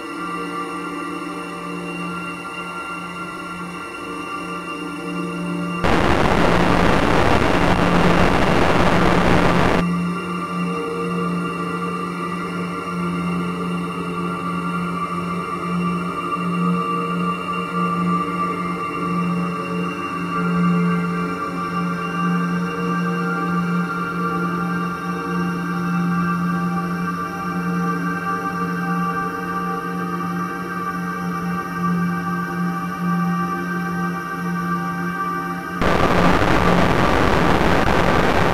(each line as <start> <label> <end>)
0.0 slowly evolving dreamy ambient drone pad 38.5
5.8 heavily reverberated distortion 9.8
35.8 heavily reverberated distortion 38.5